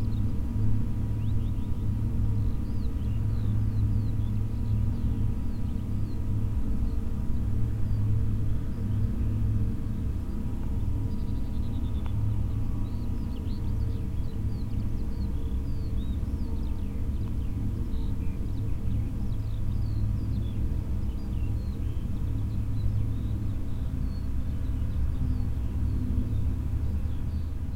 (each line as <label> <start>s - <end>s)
soft sound of the moving wind mill wings 0.0s - 27.7s